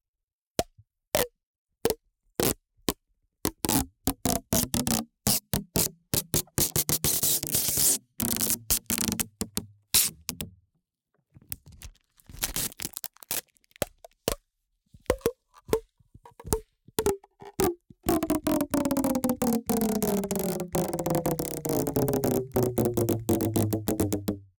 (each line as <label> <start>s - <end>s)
duct tape tension pulling the tape 3.5s - 10.5s
duct tape tension pulling the tape 16.3s - 24.4s